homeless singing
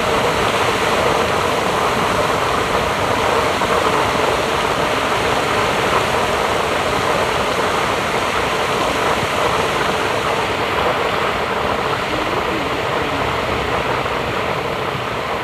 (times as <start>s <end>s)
11.8s 15.1s